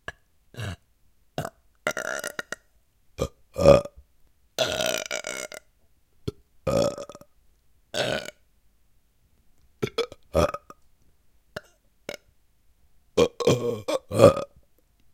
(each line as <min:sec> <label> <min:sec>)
0:01.4 Me and my friend burping 0:04.0
0:04.6 Me and my friend burping 0:05.7
0:06.3 Me and my friend burping 0:07.3
0:08.0 Me and my friend burping 0:08.4
0:09.8 Me and my friend burping 0:10.8
0:13.2 Me and my friend burping 0:14.6